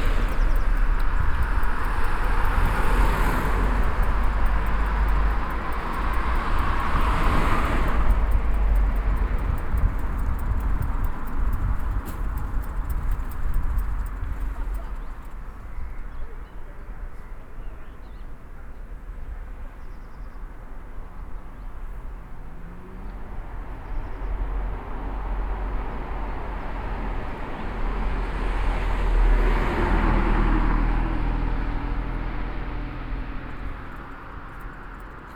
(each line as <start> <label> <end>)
0.0 walking the food path along the station rails 35.3